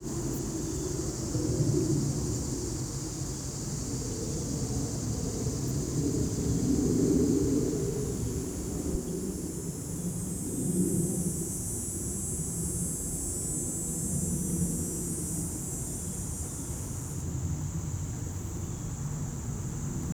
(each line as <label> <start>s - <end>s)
plane 0.0s - 20.1s